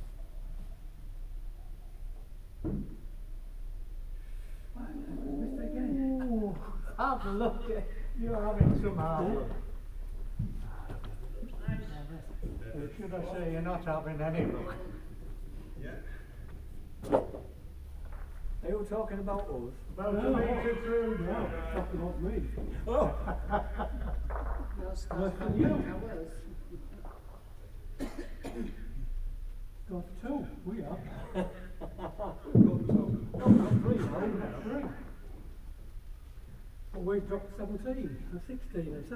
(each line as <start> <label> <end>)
4.8 voices 9.8
10.4 voices 17.3
18.0 voices 29.0
29.9 voices 35.5